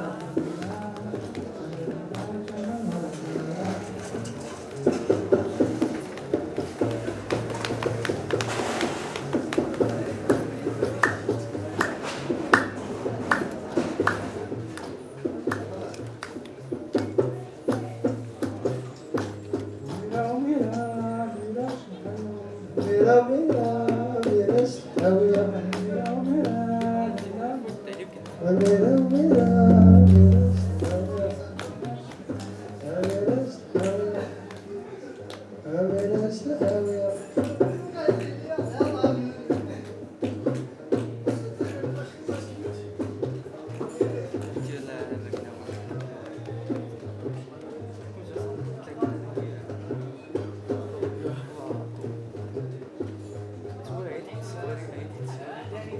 Gnawa sound 0:28.8 - 0:31.9

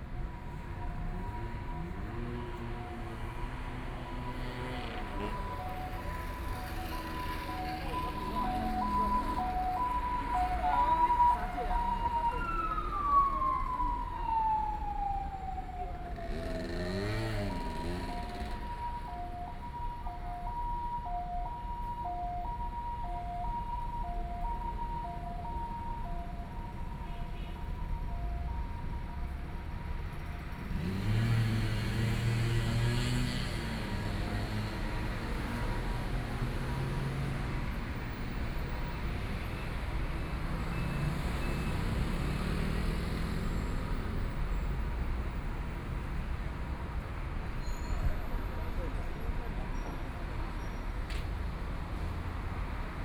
Traffic Sound 0:00.0 - 0:53.0
Walking on the road 0:00.1 - 0:16.1
Walking on the road 0:17.0 - 0:53.0

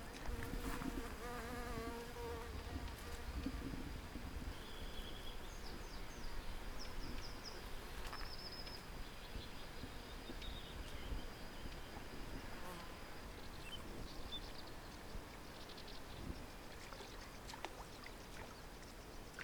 river 0:00.0 - 0:19.4

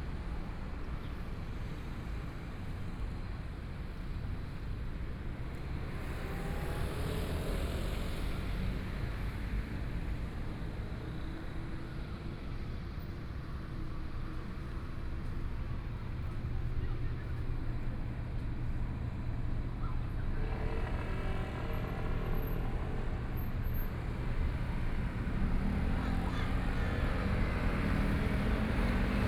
Traffic Sound 0:00.2 - 0:29.2

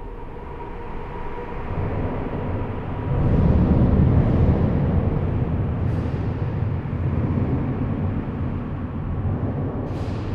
very noisy and unpleasant low-pitched explosions 0:03.0 - 0:10.3

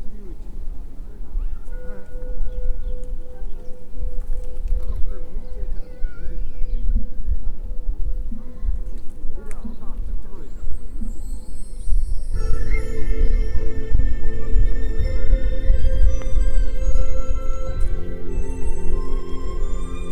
pigeons 0:00.0 - 0:11.8
music from the monastery 0:00.0 - 0:20.1
people walking by 0:00.0 - 0:20.1

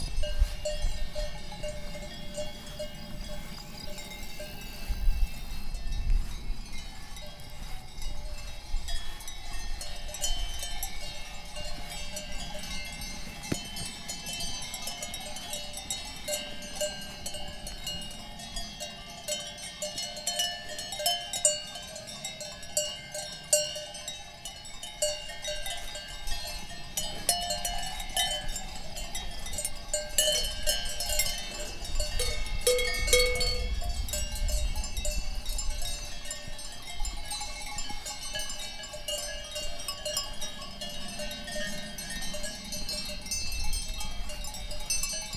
Kuhglocken 0:08.0 - 0:45.3

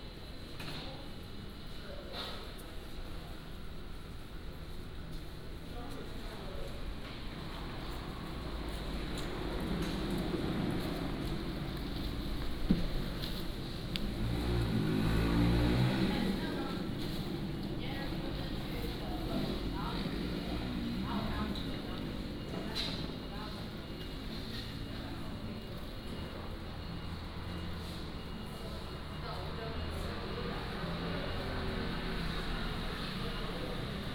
Traffic Sound 0:07.0 - 0:34.1

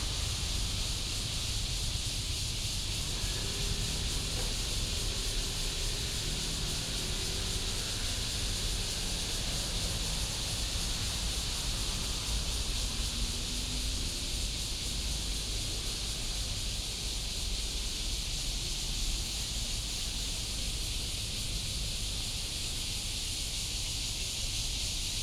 traffic sound 0:00.0 - 0:23.8
Cicada cry 0:00.0 - 0:25.2

